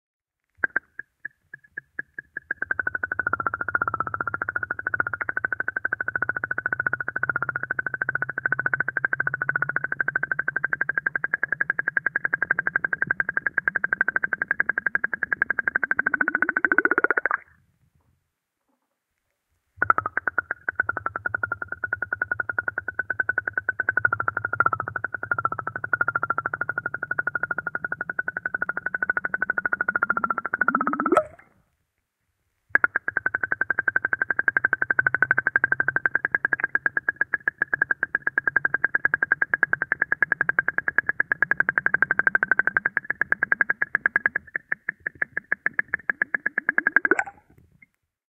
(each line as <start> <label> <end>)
15.6 Bubbles 17.6
29.6 Bubbles 31.5
44.8 Bubbles 47.6